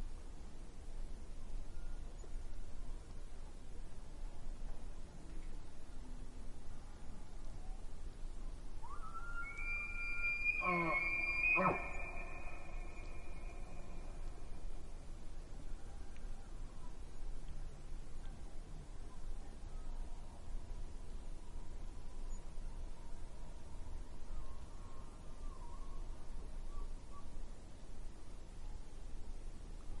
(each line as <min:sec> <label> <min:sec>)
0:09.4 elks 0:13.9